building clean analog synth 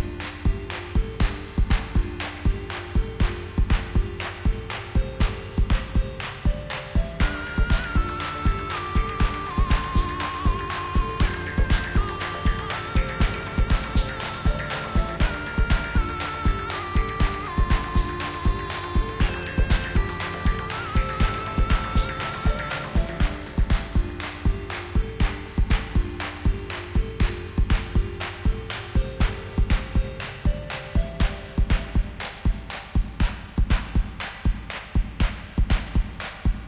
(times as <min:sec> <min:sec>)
0:07.0 0:28.0